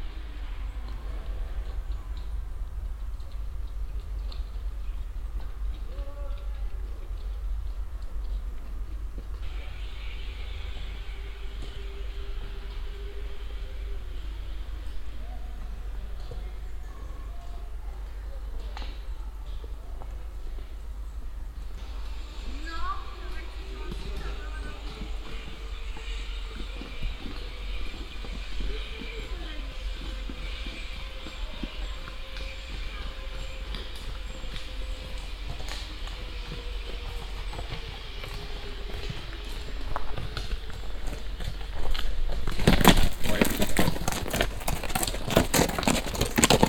Walking in the forest 0.0 - 46.6
generator noise in the distance 0.0 - 46.6
people that glide downhill though the trees attached on steel ropes 0.0 - 46.6
three horse riders that pass by 21.8 - 46.6

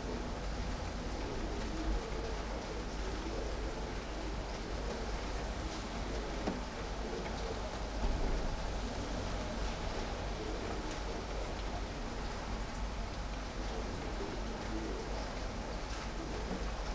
light rain 0.0 - 16.9

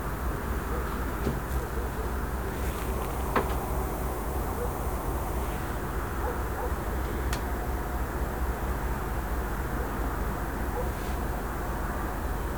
dogs bawling into the night 2.8 - 7.0

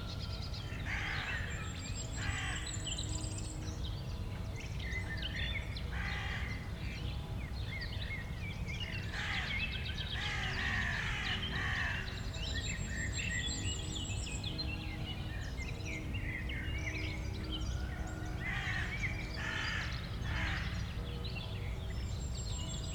church bells 0.0 - 9.2
gentle wind 0.0 - 22.9
Crows 0.8 - 1.6
Crows 2.2 - 2.7
Crows 5.9 - 6.6
Crows 9.1 - 9.6
Crows 10.2 - 12.2
church bells 11.5 - 22.9
Crows 17.8 - 20.9

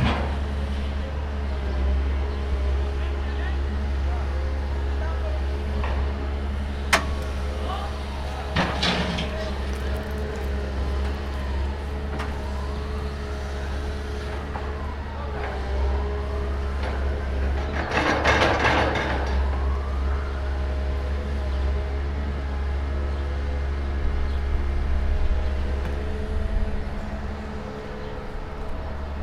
Noises of the renovation works 0.0 - 29.2
heavy machinery in the background 0.0 - 29.2

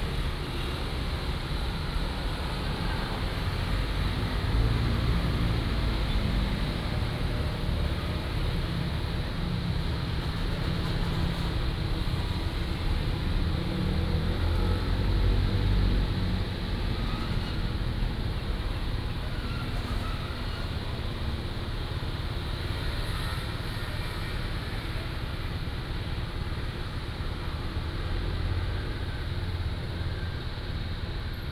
Traffic Sound 0.0 - 31.5

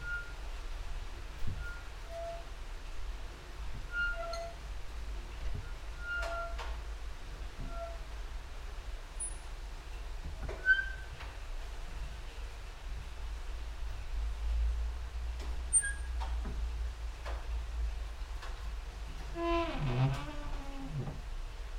rain and drops outside 0.0 - 21.7
creaking with wooden doors 19.2 - 21.3

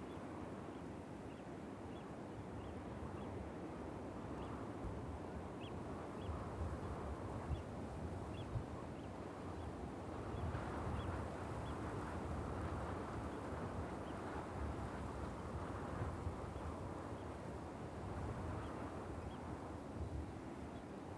winds 0.0 - 21.1

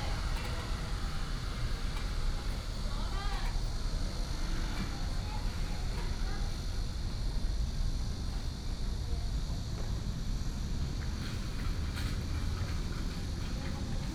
trolley 0.0 - 6.6

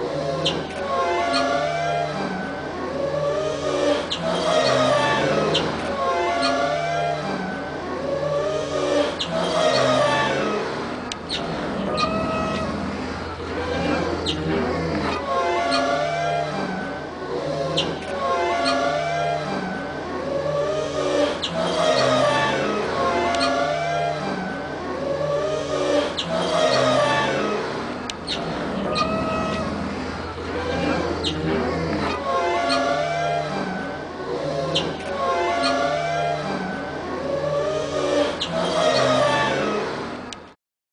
Schwimmstege in Wind und Welle 0.0 - 40.6

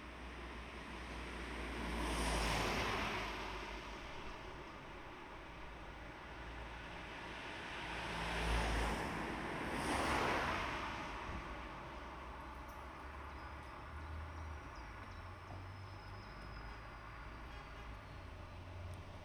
Busy Street 0.0 - 19.2

